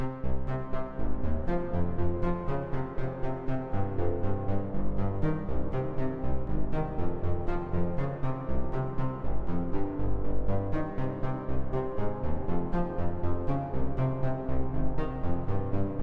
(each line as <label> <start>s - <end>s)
cello sequence made with synthesised sounds 0.0s - 16.0s